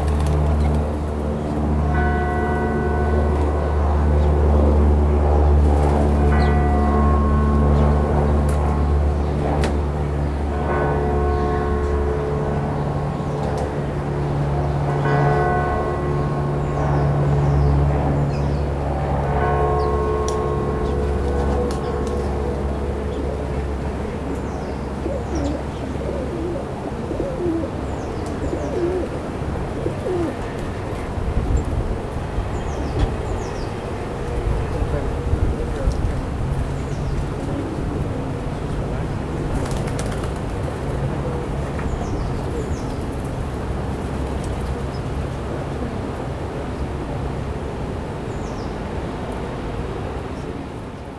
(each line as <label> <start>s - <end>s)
Doves 24.3s - 31.0s
Sparrows 24.4s - 29.2s